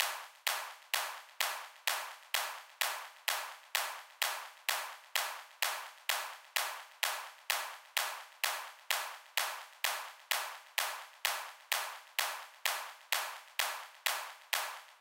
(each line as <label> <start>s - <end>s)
clap loop with some delay 0.0s - 15.0s